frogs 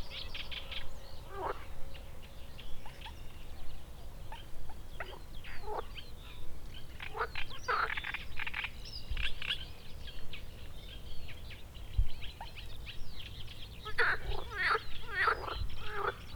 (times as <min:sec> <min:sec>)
0:01.3 0:01.7, 0:13.8 0:16.3